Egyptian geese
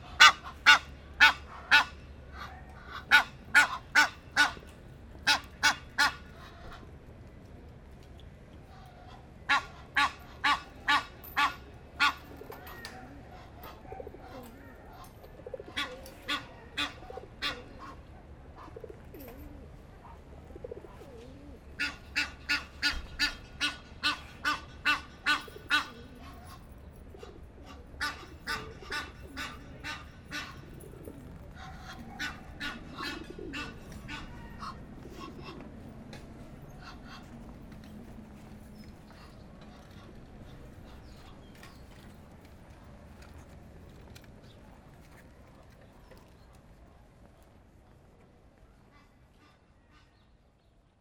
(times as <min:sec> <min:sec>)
0:00.0 0:06.9, 0:08.6 0:18.9, 0:20.9 0:37.8